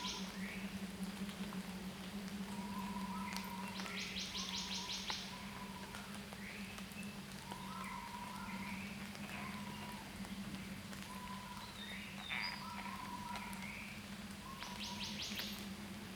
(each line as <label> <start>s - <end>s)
Birds called 11.0s - 15.6s